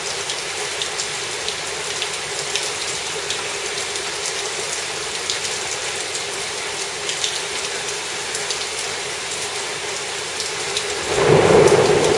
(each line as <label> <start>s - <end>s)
Heavy rain 0.0s - 12.1s
occasional thunder 11.0s - 12.1s